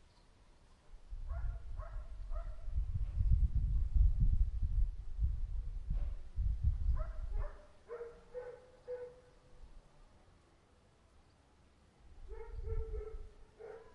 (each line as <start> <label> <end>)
0.0 birds 0.5
1.0 wind noise 8.5
1.3 dogs 2.6
7.0 dogs 9.3
12.2 wind noise 13.4
12.3 dogs 13.9